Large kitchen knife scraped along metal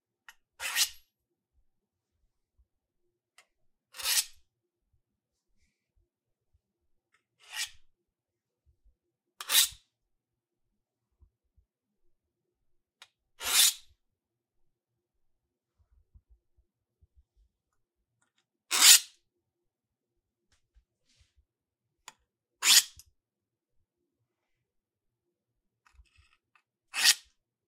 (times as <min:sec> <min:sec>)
0:00.6 0:01.0, 0:03.9 0:04.4, 0:07.4 0:07.8, 0:09.4 0:09.8, 0:13.4 0:13.9, 0:18.7 0:19.2, 0:22.6 0:23.0, 0:26.2 0:27.3